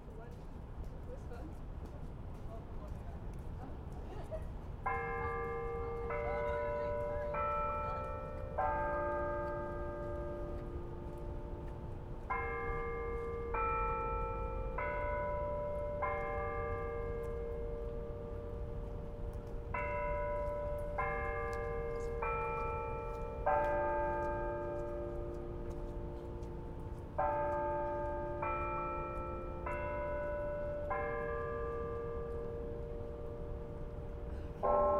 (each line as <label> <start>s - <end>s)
Haas Bell Tower 0.0s - 34.9s
Students can be heard moving between classes 0.0s - 34.9s